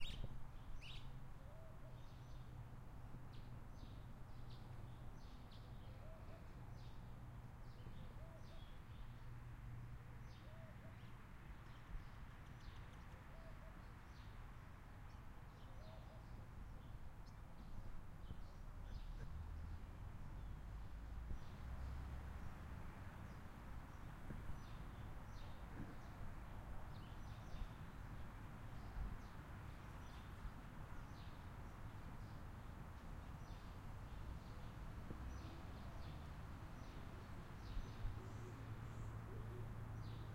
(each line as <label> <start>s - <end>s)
birds 0.0s - 2.6s
wind 0.0s - 40.3s
birds 33.0s - 40.3s